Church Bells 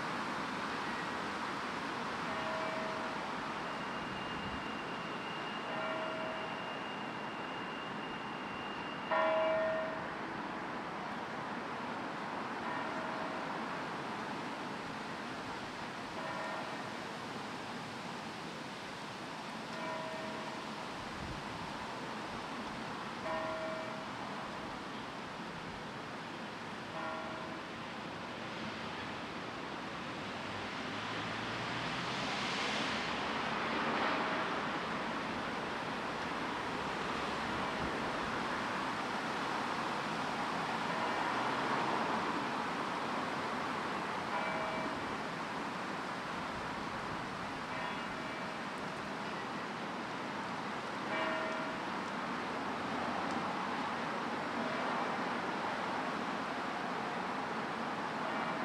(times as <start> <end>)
2.3 4.0, 4.6 7.3, 8.9 10.2, 12.6 13.5, 16.2 16.9, 19.7 20.6, 23.2 24.1, 26.9 27.7, 40.9 41.3, 44.3 45.2, 47.7 48.6, 51.0 52.0, 58.2 58.6